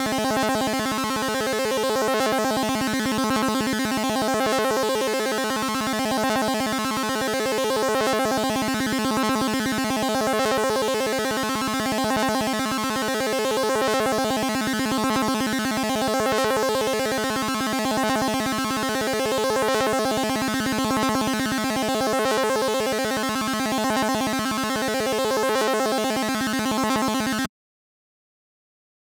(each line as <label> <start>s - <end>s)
FM a saw wave with a square wave 0.0s - 27.5s